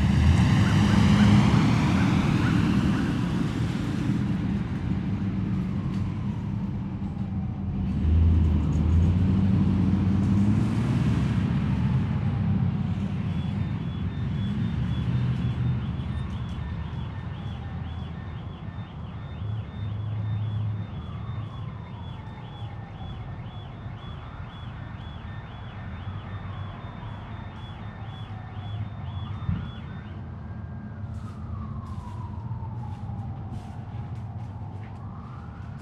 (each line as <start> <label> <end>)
0.0 Sirens 35.8
31.1 Footsteps 35.8